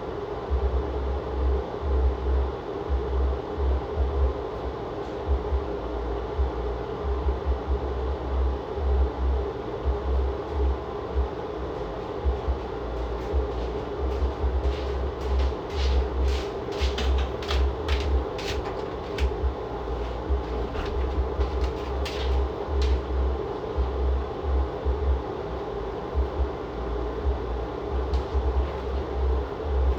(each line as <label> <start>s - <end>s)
low frequencies shake the house 0.0s - 29.9s
walking around with loud ass slippers 10.4s - 25.2s
bathroom vent 13.4s - 23.1s
walking around with loud ass slippers 27.2s - 29.9s